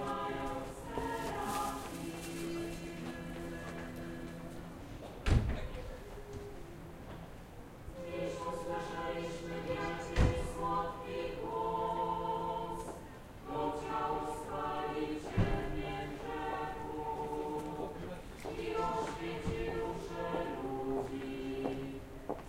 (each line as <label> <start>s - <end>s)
singing nuns 0.0s - 5.0s
people 0.0s - 22.4s
singing nuns 7.9s - 22.4s